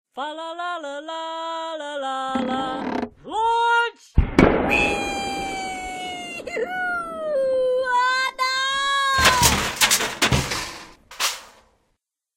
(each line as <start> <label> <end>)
4.2 catapult 7.6
4.2 rocket 11.6
4.2 crash 11.6
8.3 catapult 11.6
8.3 elves having way too much fun with a catapult 11.5